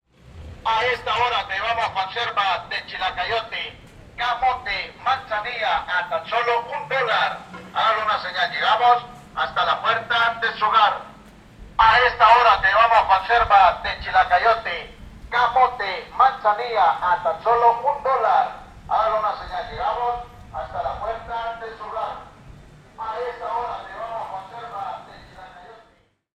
street vendor with a megaphone 0:00.5 - 0:26.3

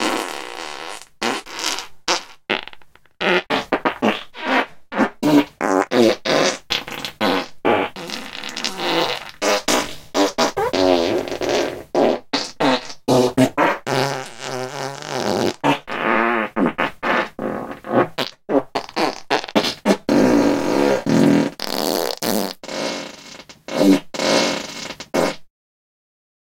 Fart Combo Fast - Dry 0:00.0 - 0:25.5

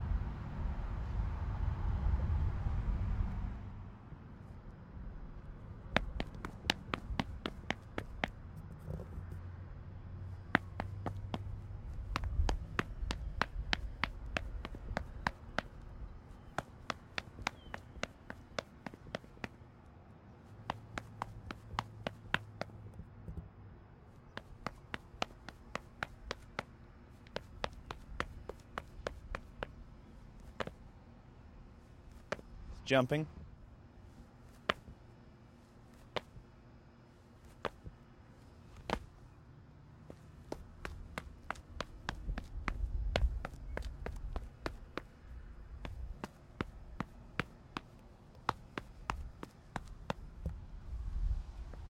Concrete Sneaker Run 0:05.8 - 0:08.4
Concrete Sneaker Run 0:10.3 - 0:19.6
Concrete Sneaker Run 0:20.6 - 0:23.0
Concrete Sneaker Run 0:24.3 - 0:30.9
Concrete Sneaker Run 0:32.0 - 0:32.5
Concrete Sneaker Run 0:34.5 - 0:35.0
Concrete Sneaker Run 0:35.9 - 0:36.5
Concrete Sneaker Run 0:37.4 - 0:39.2
Concrete Sneaker Run 0:40.0 - 0:50.8

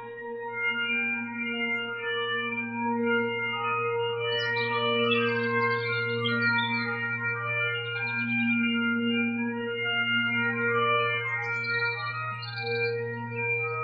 birds 0:04.3 - 0:07.0

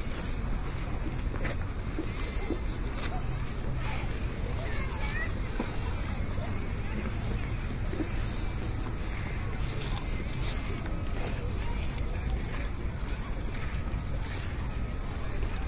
skating 0:00.0 - 0:15.6

